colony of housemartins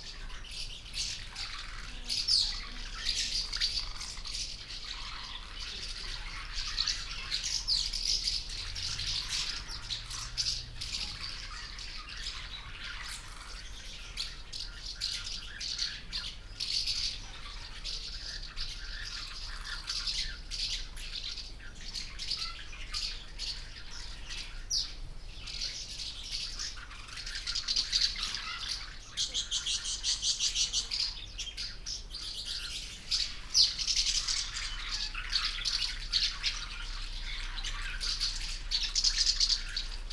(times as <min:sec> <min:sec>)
0:00.0 0:15.1